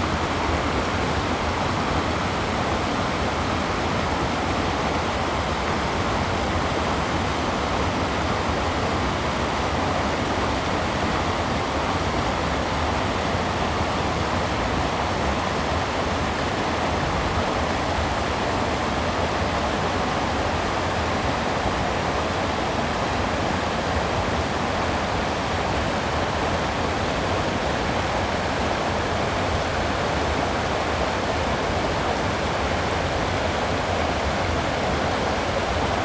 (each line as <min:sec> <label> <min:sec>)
0:00.0 small waterfall 0:36.0